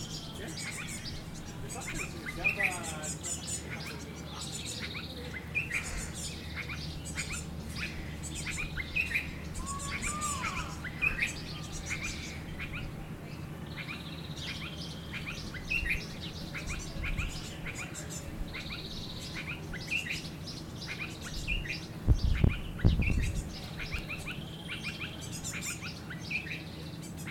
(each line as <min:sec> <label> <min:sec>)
0:00.0 Birds 0:27.3